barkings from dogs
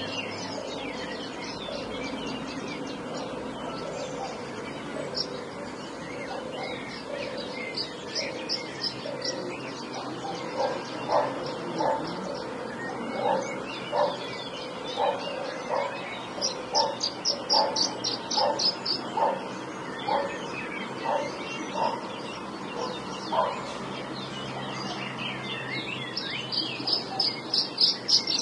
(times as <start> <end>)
6.2 6.8, 10.0 14.3, 15.0 20.4, 21.0 22.0, 22.8 23.7